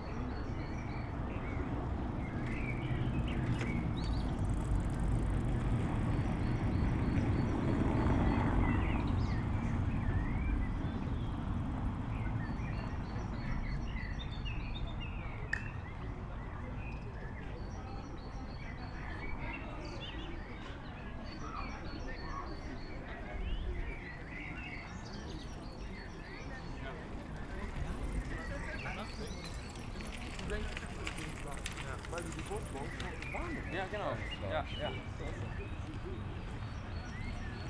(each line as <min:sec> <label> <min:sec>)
0:00.0 many cyclists passing by 0:37.6
0:16.6 people gathering in a Biergarten pub 0:37.6